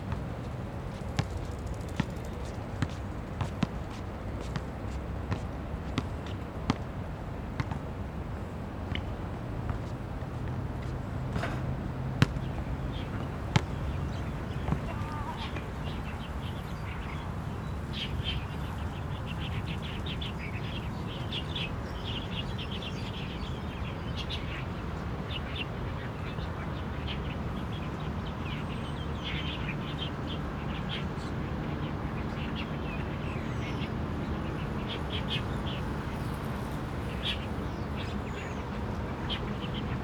Traffic Sound 0.0 - 40.0
Play basketball 0.1 - 18.8
Bird calls 10.8 - 40.0

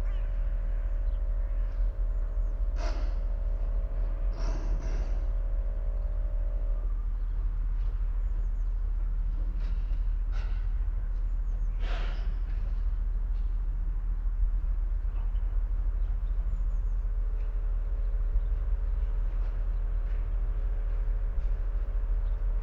workers prepare a house for demolition 7.6 - 13.6

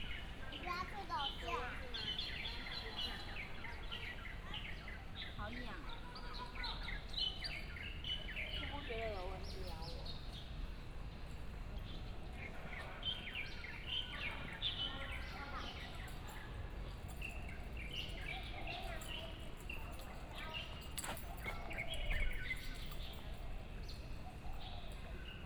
Walking through the park 0.0 - 25.4
birds 0.0 - 25.4
Child 0.5 - 1.7

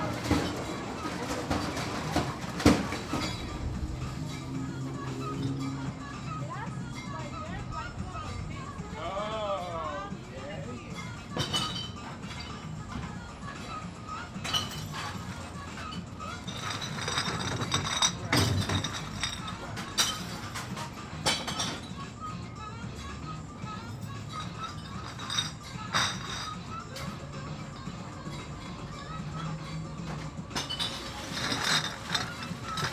beer bottle recycling 0.0 - 5.9
beer bottle recycling 10.6 - 13.1
beer bottle recycling 14.3 - 22.0
beer bottle recycling 24.3 - 27.2
beer bottle recycling 30.0 - 32.9

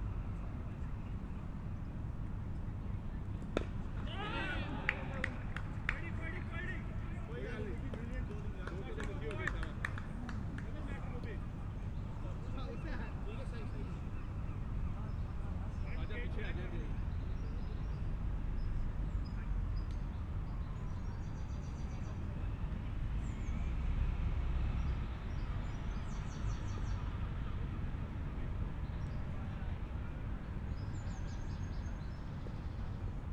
Cricket match 0.2 - 18.6

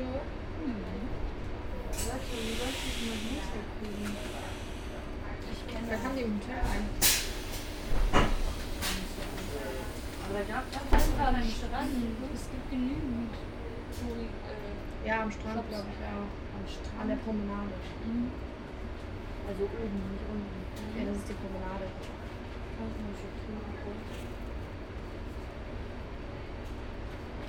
train to Zandvoort 0.0 - 27.4
passing trains 0.4 - 5.7
passing trains 6.3 - 16.5

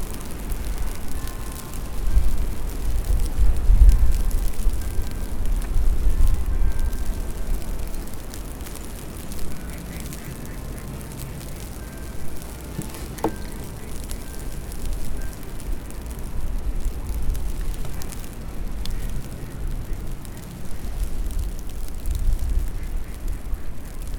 bells 10.9 - 16.1

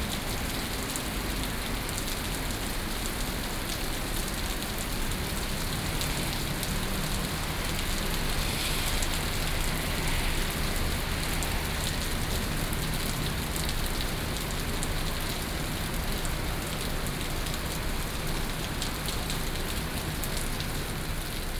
Heavy rain 0.0 - 21.5

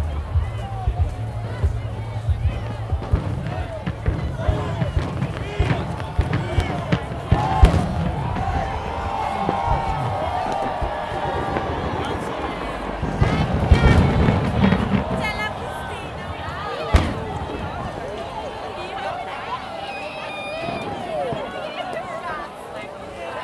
Bassy dance music 0.0 - 18.2
cheers 0.0 - 23.4
fireworks 0.2 - 22.0

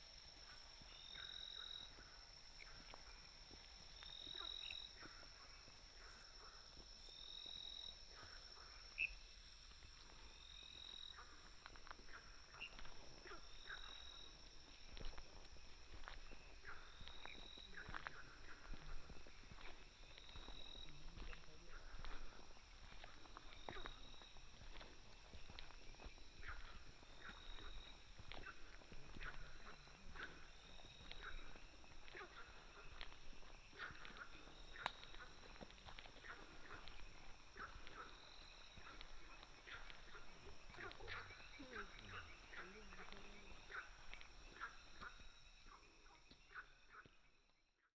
Frogs chirping 0.0 - 47.7

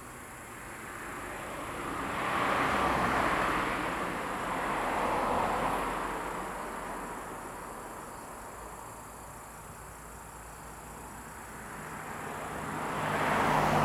Sound of insects 4.4 - 13.8
Traffic Sound 10.9 - 13.8

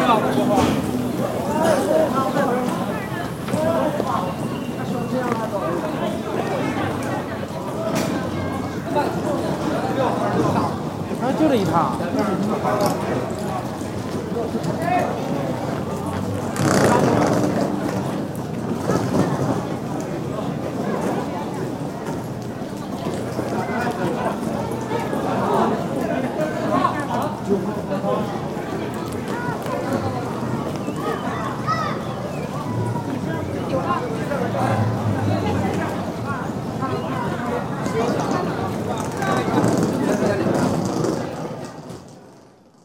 people that rush to the train with their trolleys 0.0 - 42.8

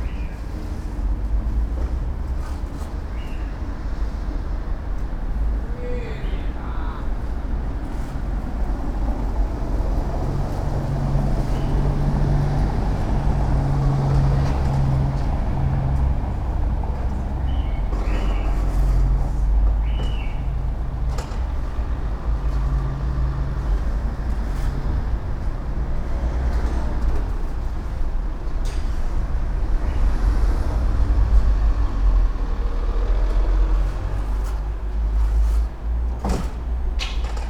construction workers renovating side of a building 0.0 - 37.4
chirps of a bird 19.8 - 20.4

